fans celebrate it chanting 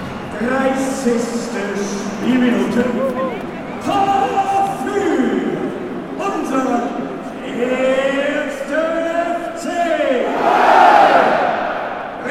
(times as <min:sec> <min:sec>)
0:10.2 0:12.3